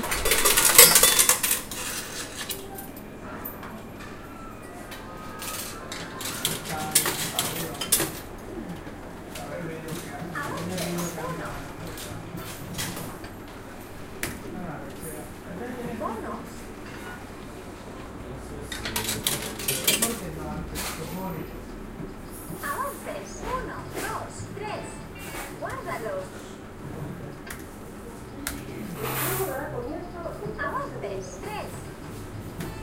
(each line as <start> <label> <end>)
0.0 game machine 13.0
0.0 falling coins 3.0
5.3 falling coins 8.2